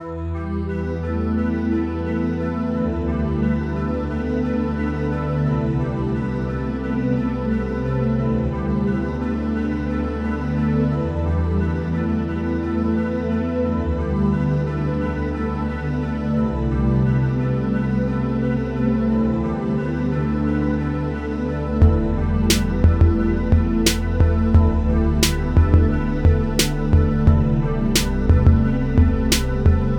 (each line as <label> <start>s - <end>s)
Bass 0.0s - 29.9s